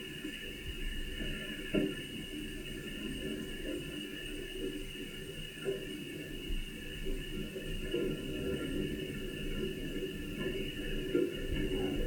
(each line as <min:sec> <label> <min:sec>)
0:06.6 wind blows branches and leaves across the boom 0:12.0